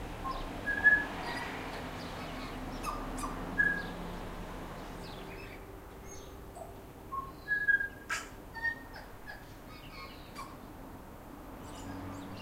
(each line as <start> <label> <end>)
0.0 cars can be heard in the background 12.4